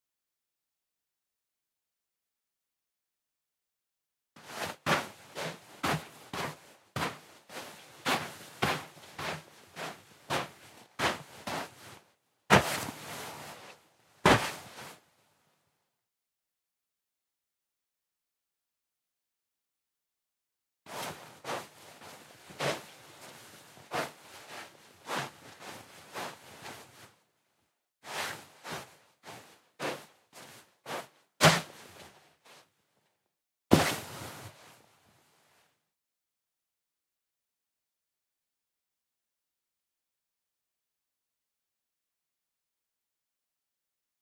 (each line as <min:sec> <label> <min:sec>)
0:04.4 Footsteps Sand or Snow 0:15.0
0:20.9 Footsteps Sand or Snow 0:27.0
0:28.1 Footsteps Sand or Snow 0:32.2
0:33.7 Footsteps Sand or Snow 0:34.7